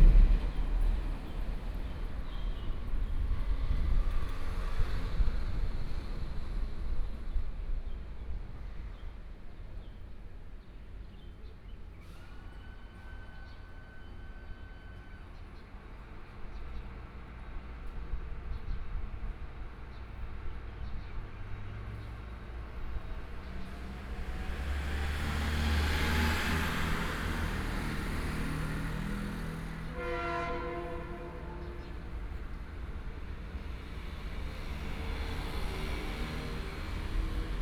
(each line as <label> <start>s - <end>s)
Traffic Sound 0.0s - 7.8s
Trains traveling through 0.0s - 37.6s
Traffic Sound 10.0s - 37.6s